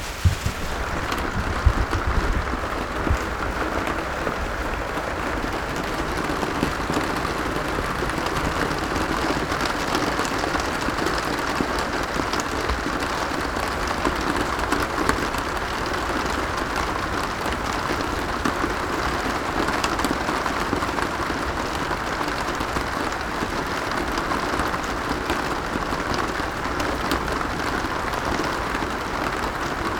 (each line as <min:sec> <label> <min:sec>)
0:00.0 Heavy rain dripping on a saturated Coy mat 0:29.9
0:00.0 water dripping on a saturated coy mat 0:08.5